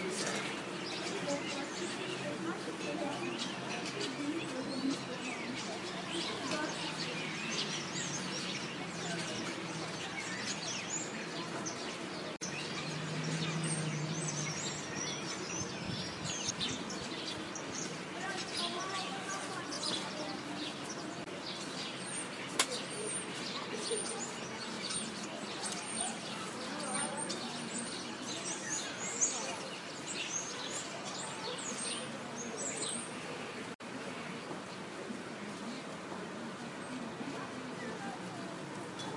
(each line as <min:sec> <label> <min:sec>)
0:00.0 starlings 0:33.8